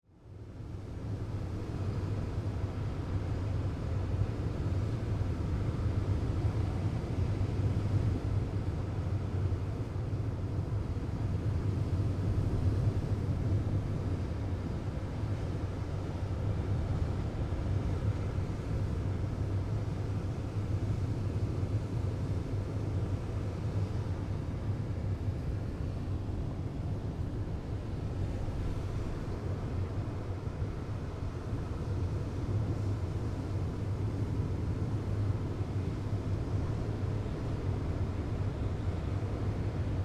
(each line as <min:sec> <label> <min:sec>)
0:00.4 waves 0:40.0